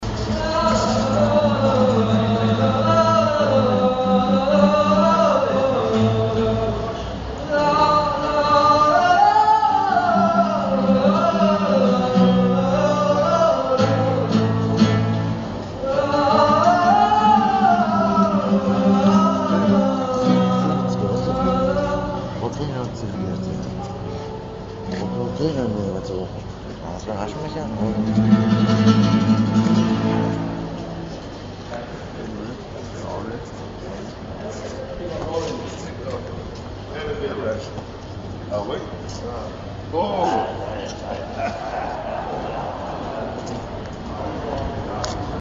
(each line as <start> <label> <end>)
0.0 Musician sings the Koreibiniki 14.9
15.7 Musician sings the Koreibiniki 26.5